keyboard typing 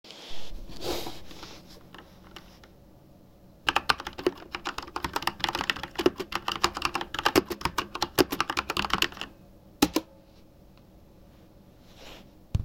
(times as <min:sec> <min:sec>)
0:01.8 0:02.7, 0:03.7 0:10.1